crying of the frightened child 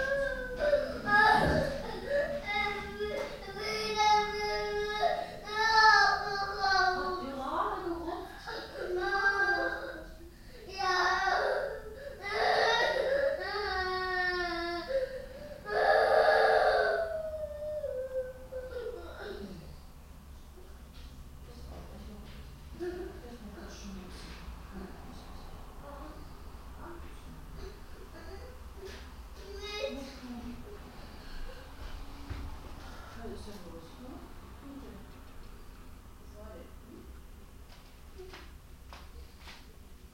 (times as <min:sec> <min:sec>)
0:10.8 0:19.4